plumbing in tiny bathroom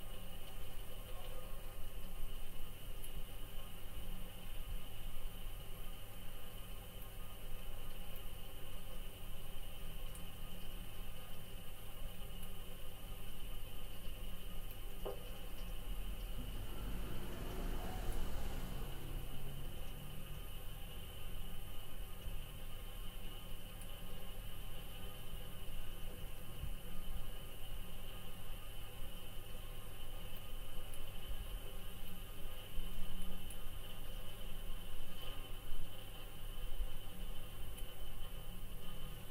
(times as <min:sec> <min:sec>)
0:09.7 0:25.0